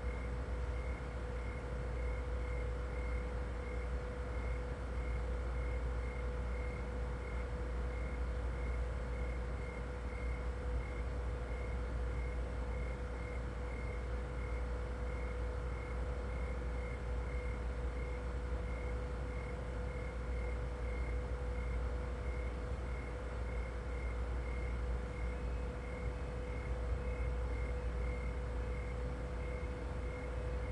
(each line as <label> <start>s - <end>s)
Noisy refrigerator 0.0s - 30.7s
sound machine playing crickets 0.0s - 30.7s